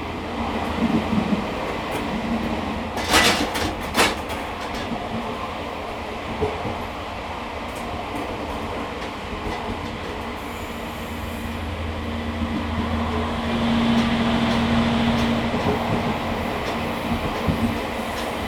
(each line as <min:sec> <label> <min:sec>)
0:00.0 Train in the mountains 0:18.4